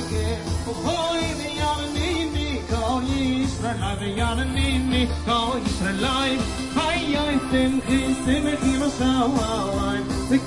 0.0s music 10.4s

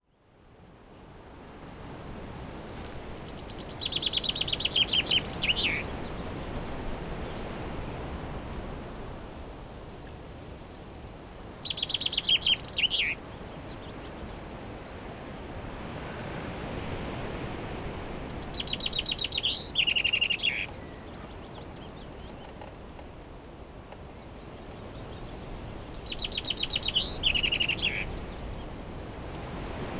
0.0s wind 29.9s
2.8s birds 7.6s
11.0s birds 14.9s
18.1s birds 23.1s
23.9s birds 28.8s

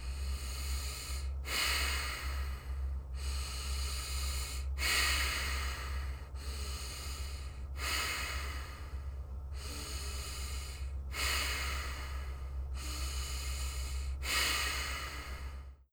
0.0s breath 15.8s

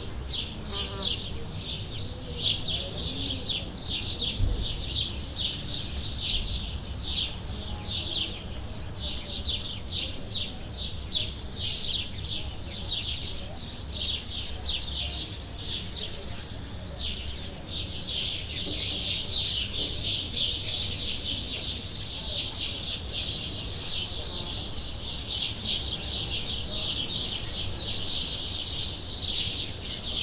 0.0s lots of birds 30.2s

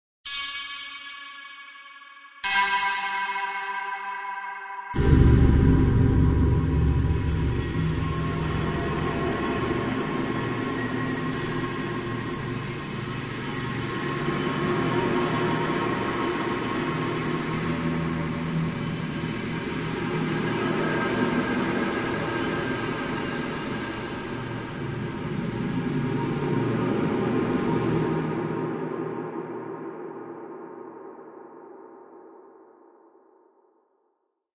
5.0s ghostly transition 32.7s

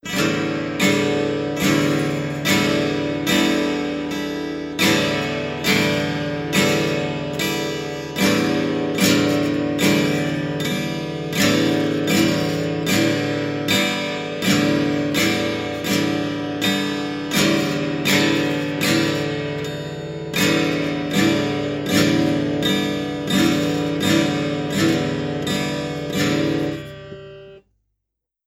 0.0s acoustic guitar strums 27.7s

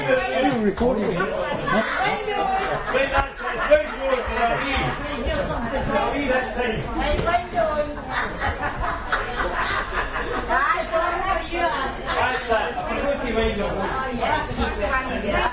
0.0s voices of several people 15.5s
1.5s laughter 5.2s
8.1s laughter 10.6s

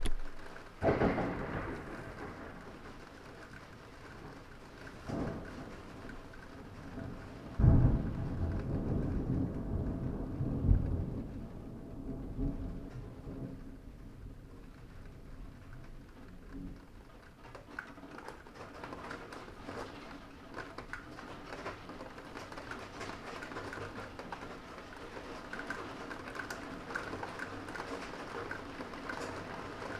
0.0s Thunder 15.7s
0.0s rain 29.9s

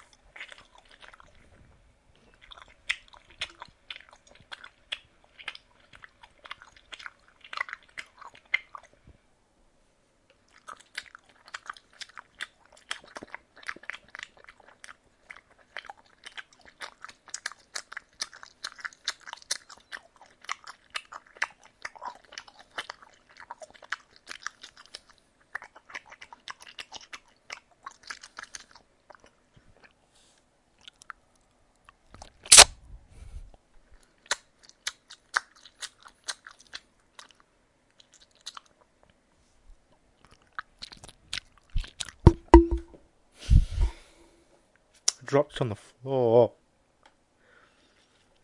0.0s Chewing Gum 9.0s
10.3s Chewing Gum 30.0s
30.8s Chewing Gum 32.7s
33.8s Chewing Gum 39.2s
39.8s Chewing Gum 43.0s
42.3s Container 43.0s

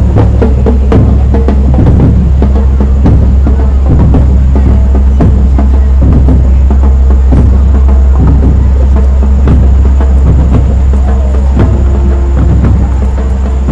0.0s Another band approaches 13.7s
0.0s Children talk and yell 13.7s
0.0s band from Part1 departing 13.7s
0.0s drumming 13.7s

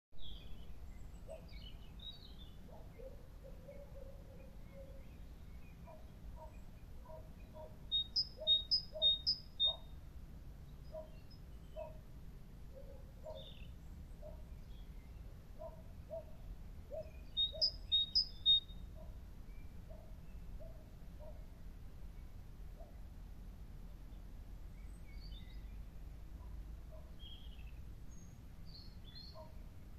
0.2s Birdsong 10.0s
5.9s Distant Dog Bark 7.8s
10.6s Birdsong 12.1s
11.8s Distant Dog Bark 12.0s
12.7s Birdsong 23.0s
12.8s Distant Dog Bark 13.5s
15.6s Distant Dog Bark 17.7s
19.9s Distant Dog Bark 21.5s
24.1s Birdsong 29.9s
26.4s Distant Dog Bark 27.2s
29.4s Distant Dog Bark 29.6s

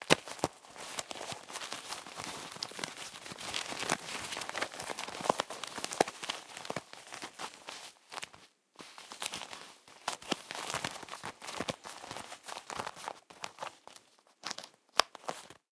0.0s leather and buttons/zipper being rubbed/squeezed 8.4s
0.0s Checking a medium-sized leather wallet 15.7s

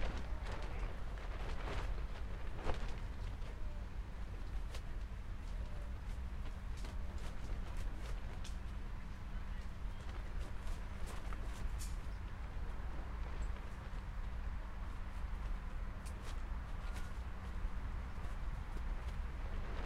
0.0s tent fabric 19.8s
0.0s traffic 19.8s

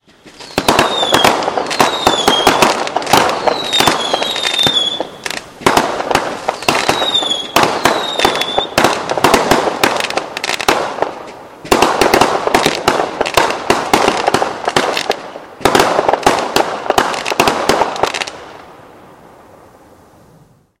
0.0s whistle fireworks 18.6s
0.0s standard fireworks 19.8s

